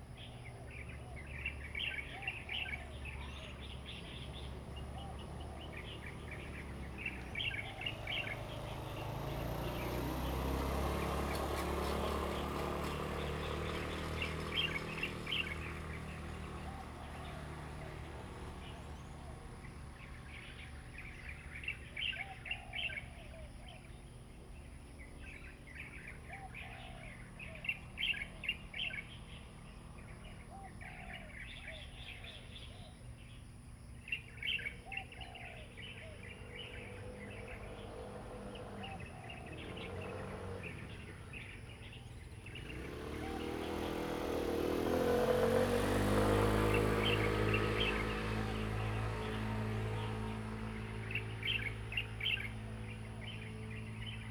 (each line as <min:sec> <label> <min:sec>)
0:00.0 Birds singing 0:54.3
0:00.0 Traffic Sound 0:54.3